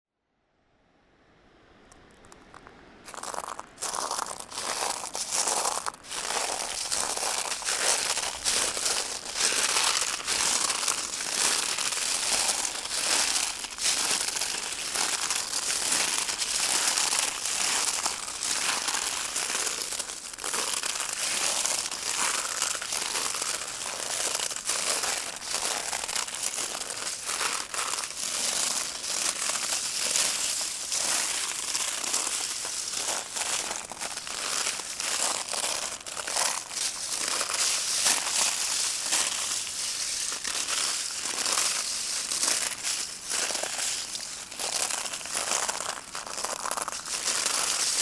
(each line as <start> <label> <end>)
1.9 Walking on shells 48.0